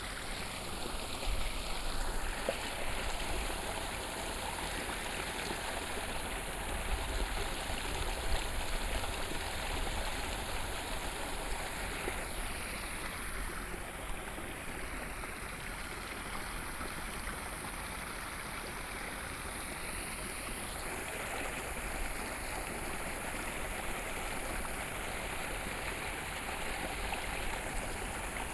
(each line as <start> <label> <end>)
0.0 Farmland irrigation waterways 28.5